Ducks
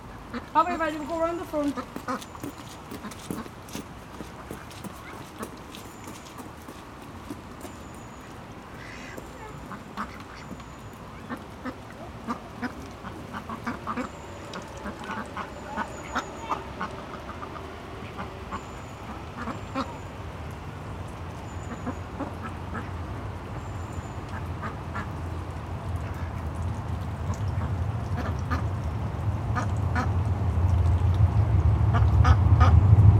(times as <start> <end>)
1.6 3.8, 4.4 6.8, 7.6 20.1, 21.6 23.0, 24.2 25.2, 27.3 28.7, 29.5 30.1, 31.9 32.7